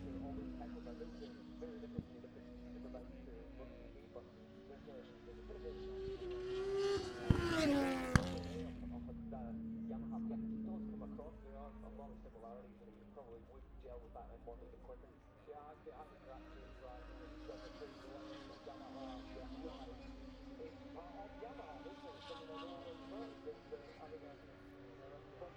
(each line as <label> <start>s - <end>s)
motorcycle grand prix 0.0s - 25.5s